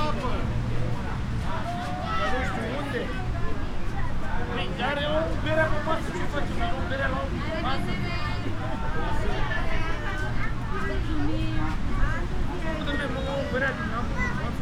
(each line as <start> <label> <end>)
0.0 people 14.6